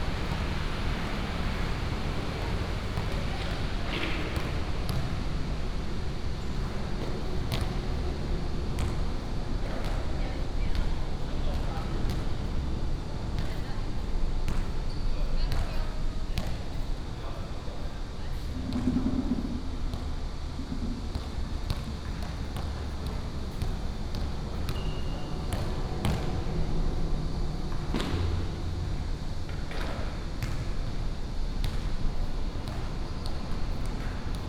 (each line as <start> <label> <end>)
0.0 Traffic sound 5.9